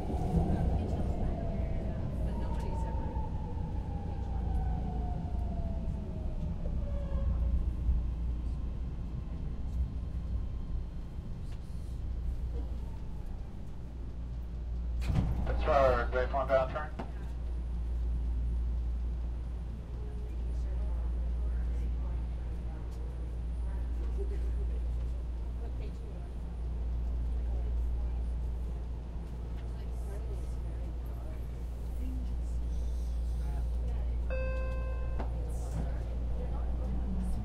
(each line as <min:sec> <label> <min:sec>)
0:00.0 announcements 0:06.3
0:00.0 conversation of the people around us 0:06.8
0:11.3 conversation of the people around us 0:37.4
0:15.5 announcements 0:17.1
0:22.6 train sounds 0:37.4
0:33.7 announcements 0:37.4